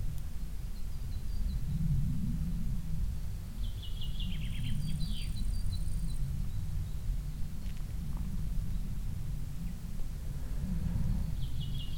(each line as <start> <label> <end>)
0.0 traffic in the distance 11.9
0.1 birds 1.9
3.5 birds 11.9
3.6 crickets 11.9